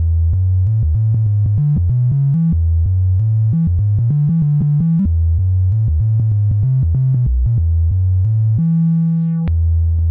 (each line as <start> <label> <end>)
0.0 Bass Chaos 10.1